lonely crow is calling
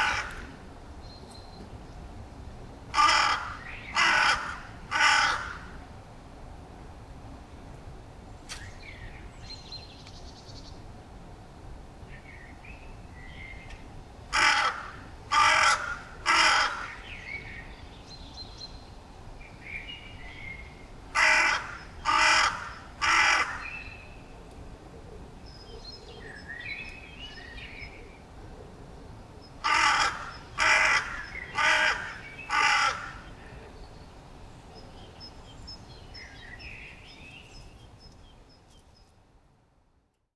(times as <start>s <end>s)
0.0s 0.7s, 2.9s 5.8s, 14.3s 17.4s, 21.2s 24.0s, 29.6s 33.8s